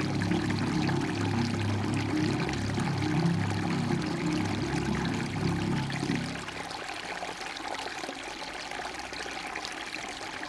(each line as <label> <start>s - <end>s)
little stream coming down from the mountains, flowing along the street 0.0s - 10.4s